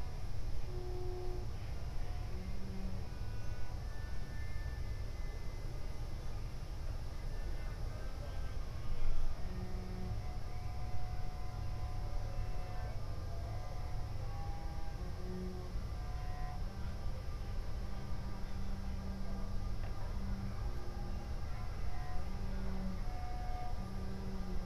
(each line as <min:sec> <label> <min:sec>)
0:08.7 cello in background 0:24.6